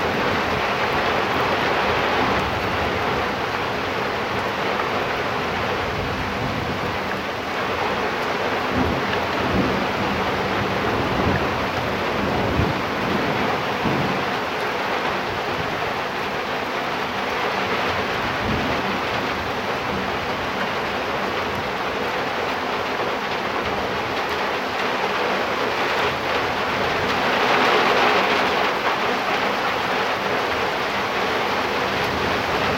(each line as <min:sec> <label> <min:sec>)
0:00.0 Rain 0:32.7
0:08.7 Thunder 0:14.4